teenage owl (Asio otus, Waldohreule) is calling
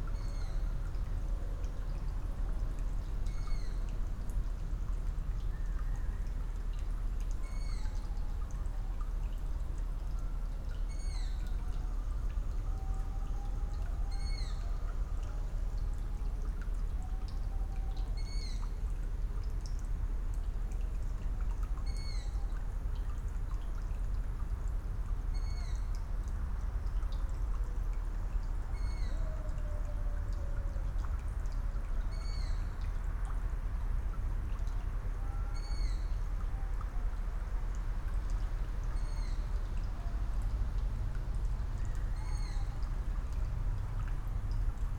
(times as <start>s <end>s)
12.7s 14.9s, 28.7s 30.7s, 42.1s 42.8s